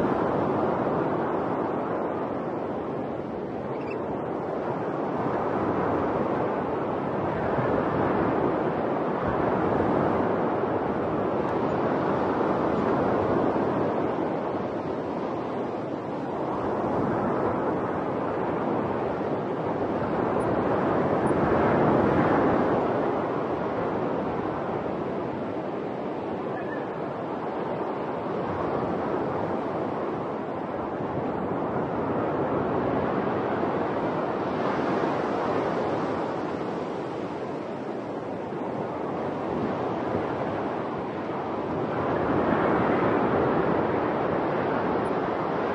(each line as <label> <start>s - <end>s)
waves were breaking about 100m away 0.0s - 45.7s
Oystercatchers 3.7s - 4.0s